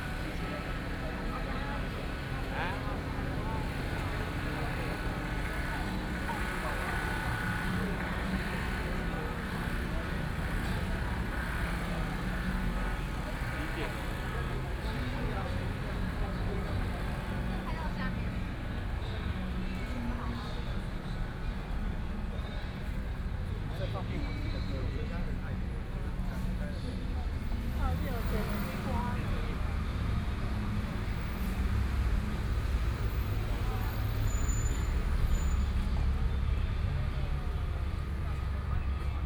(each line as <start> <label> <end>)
0.0 People and students 39.2